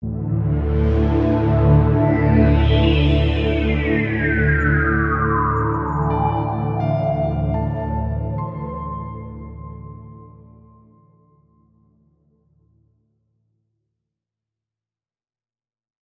piano 0:00.0 - 0:11.8
short introduction musical piece 0:00.3 - 0:10.0

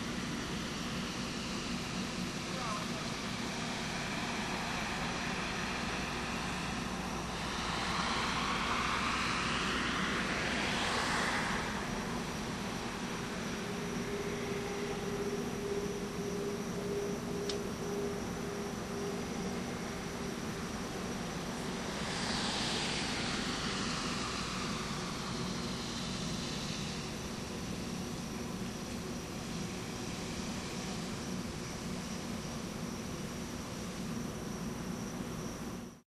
Police helicopter 0:00.0 - 0:35.9
Police cruiser passes by 0:03.1 - 0:31.2

